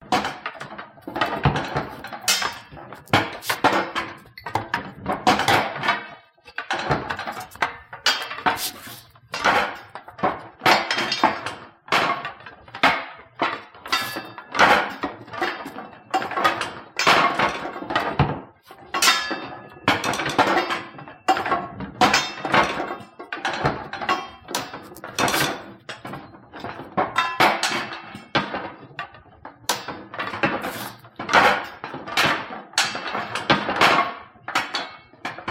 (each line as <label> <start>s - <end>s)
Weapons/Tools Taken off Rack 0.1s - 11.5s
Weapons/Tools Taken off Rack 13.4s - 18.1s
Weapons/Tools Taken off Rack 18.7s - 27.0s
Weapons/Tools Taken off Rack 30.2s - 31.8s